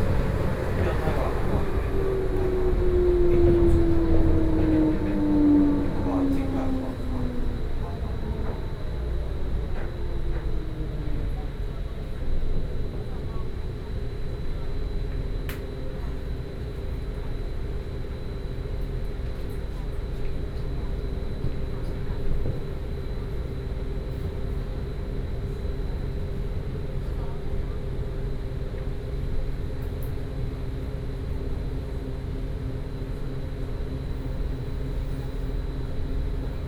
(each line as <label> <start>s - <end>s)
On the train 0.0s - 36.6s